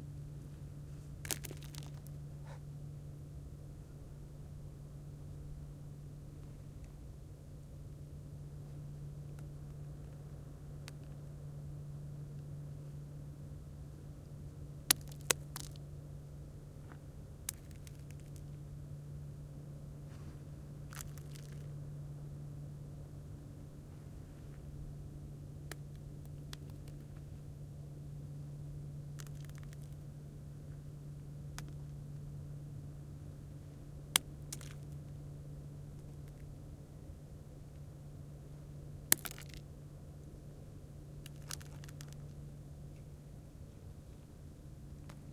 Stones tossed 1.2 - 2.2
Stones tossed 14.9 - 15.8
Stones tossed 17.5 - 18.4
Stones tossed 20.9 - 21.7
Stones tossed 29.2 - 30.0
Stones tossed 34.2 - 34.9
Stones tossed 39.1 - 39.6
Stones tossed 41.2 - 42.3

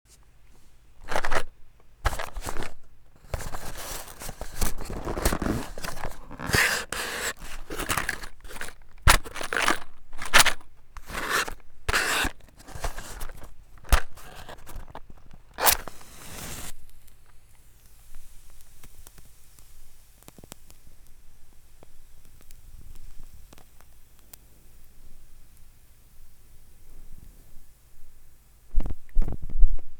lighting a candle 2.2 - 10.4
lighting a wooden match 2.4 - 20.8
lighting a candle 11.0 - 21.2

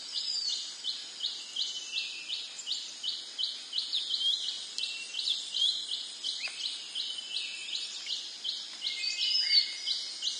birds echo 0.0 - 10.3
crickets 0.0 - 10.3

